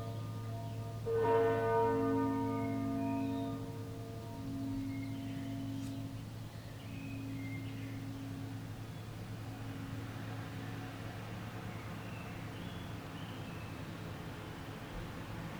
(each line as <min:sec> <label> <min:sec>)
0:00.0 bells 0:12.0